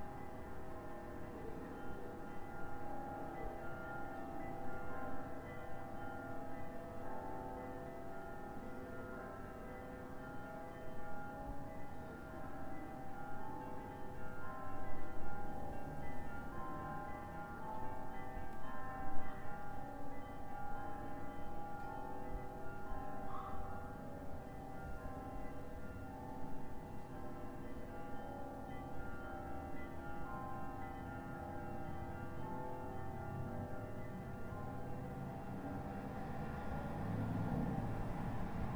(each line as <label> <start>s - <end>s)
ringing of church bells 0.0s - 38.7s